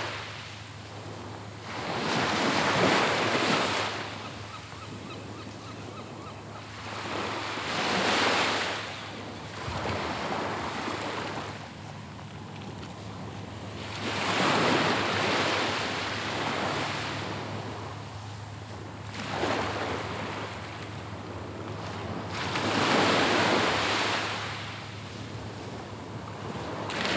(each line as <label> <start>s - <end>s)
walking meditation along the seashore 0.0s - 27.1s